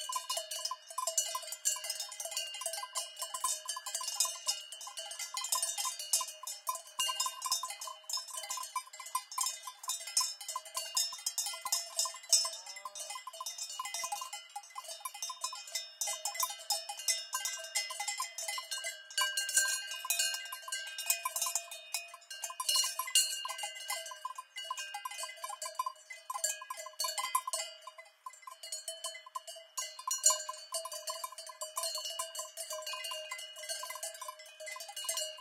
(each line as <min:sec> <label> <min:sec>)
0:00.0 cowbells 0:35.4